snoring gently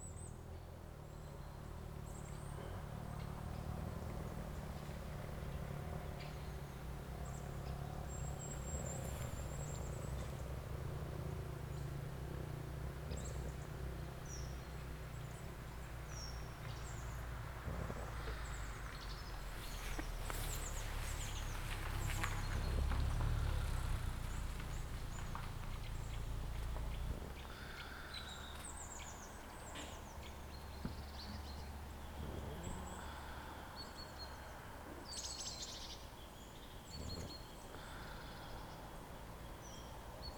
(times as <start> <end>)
17.6 18.8, 32.0 33.6